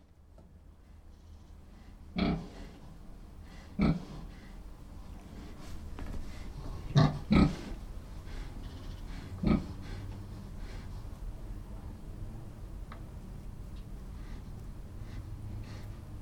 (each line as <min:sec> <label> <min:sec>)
0:01.2 Pigs 0:04.6
0:06.3 Pigs 0:10.9